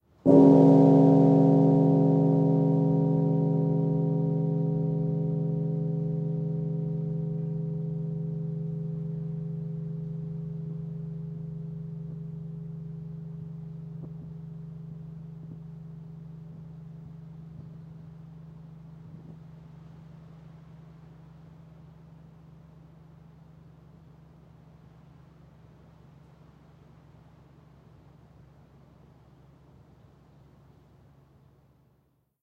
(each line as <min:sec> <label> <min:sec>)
0:00.0 wind 0:32.3
0:00.3 carillon low bell 0:19.8